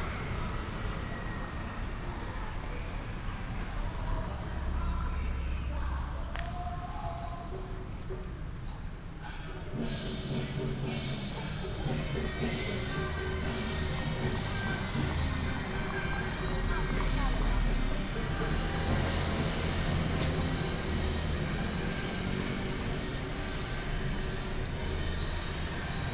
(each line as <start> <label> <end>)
0.0 Traffic sound 26.1
0.0 Walking in the area of the temple 26.1
9.2 Taiwanese traditional opera 26.1